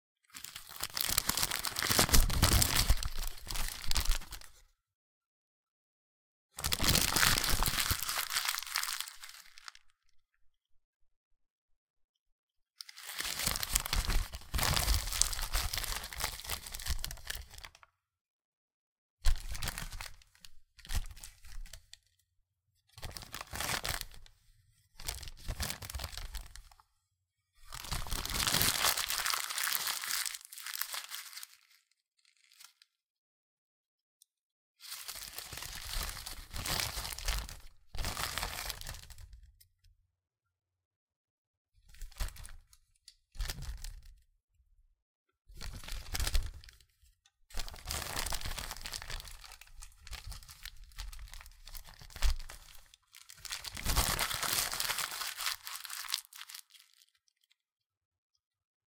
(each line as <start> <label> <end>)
0.4 Receipt Crinkle 4.5
6.6 Receipt Crinkle 9.7
27.7 Receipt Crinkle 31.7
47.6 Receipt Crinkle 56.8